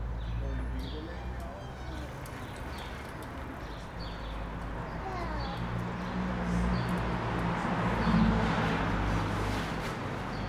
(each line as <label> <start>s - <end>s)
voices in the street 0.0s - 10.4s